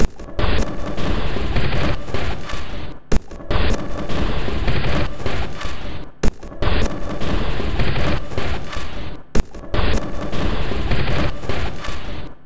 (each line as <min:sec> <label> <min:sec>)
0:03.1 Drum Loop 0:04.1
0:06.2 Drum Loop 0:07.2
0:09.4 Drum Loop 0:10.3